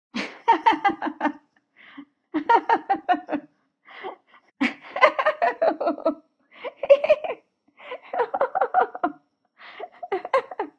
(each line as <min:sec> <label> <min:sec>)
0:00.2 girl lady laughing 0:01.4
0:02.4 girl lady laughing 0:03.4
0:04.6 girl lady laughing 0:09.2
0:09.8 girl lady laughing 0:10.7